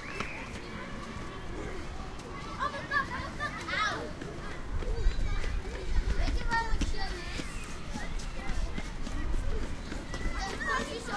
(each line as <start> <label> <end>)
0.0 schoolchildren leaving school 11.1
3.4 footsteps 11.1